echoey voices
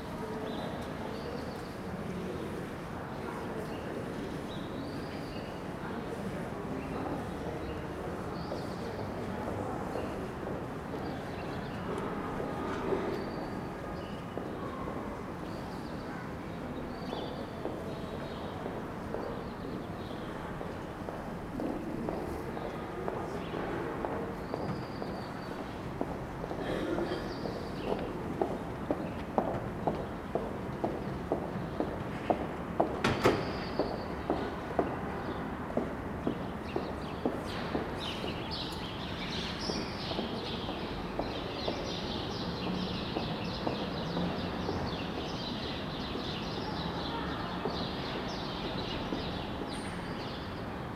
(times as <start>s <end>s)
0.0s 32.1s